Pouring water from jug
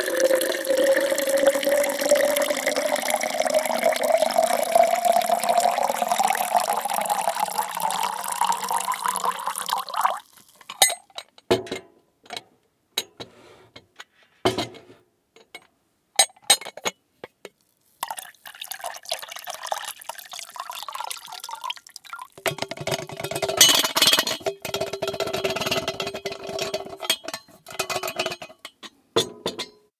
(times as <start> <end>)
0.0 10.8, 18.0 23.2